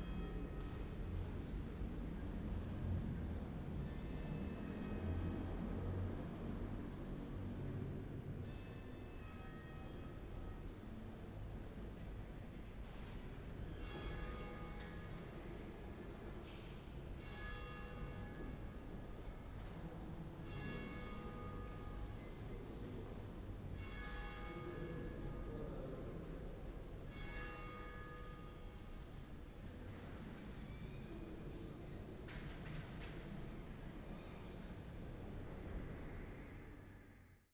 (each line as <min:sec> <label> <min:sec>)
0:00.0 Small noises inside the cathedral 0:37.5
0:19.9 peal of bells 0:29.2